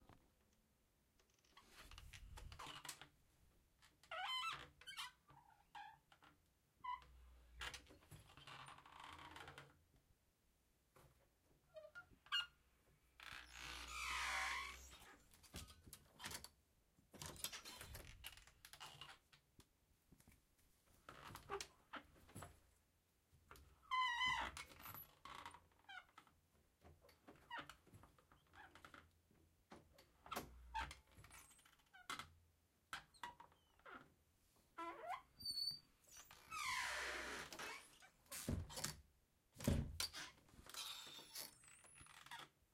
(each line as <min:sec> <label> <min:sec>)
0:13.2 creaky door being opened and closed 0:16.5
0:34.8 creaky door being opened and closed 0:39.0
0:39.6 creaky door being opened and closed 0:42.6